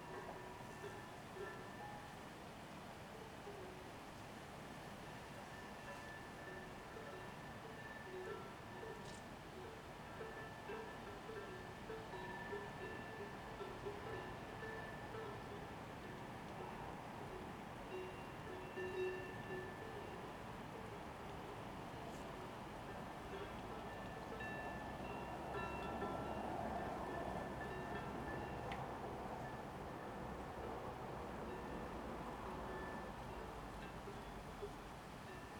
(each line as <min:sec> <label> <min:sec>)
0:05.6 Music 0:22.2